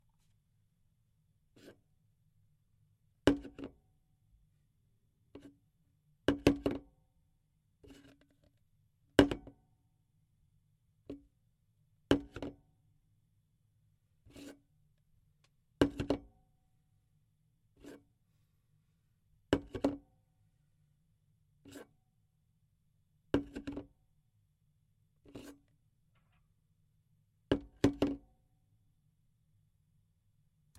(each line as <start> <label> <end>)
3.3 plastig jug being picked and put down on a table 3.7
12.1 plastig jug being picked and put down on a table 12.6
15.8 plastig jug being picked and put down on a table 16.3
19.5 plastig jug being picked and put down on a table 20.0
23.4 plastig jug being picked and put down on a table 23.9